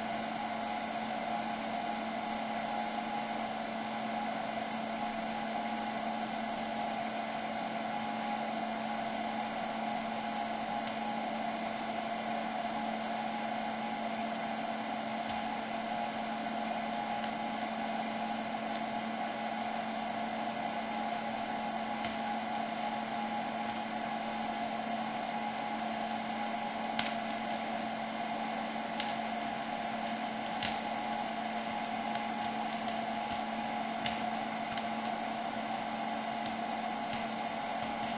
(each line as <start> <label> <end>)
0.0 fan 38.1
15.2 pop corn 19.2
21.3 pop corn 28.0
28.7 pop corn 38.1